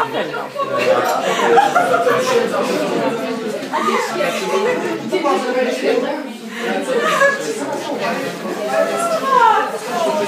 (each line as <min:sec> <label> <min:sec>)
0:00.6 laughter 0:03.1